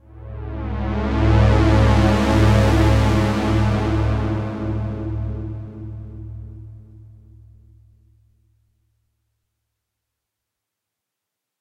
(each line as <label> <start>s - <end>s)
Pulse made on Roland Juno-60 Synthesizer 0.0s - 8.5s